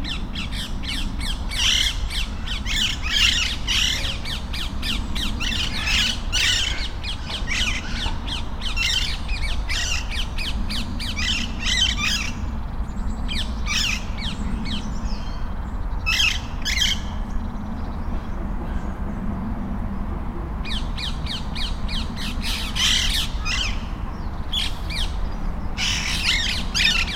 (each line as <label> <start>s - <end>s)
flock of free living, green parrots 0.0s - 19.0s
traffic noise 0.0s - 27.1s
flock of free living, green parrots 20.6s - 27.1s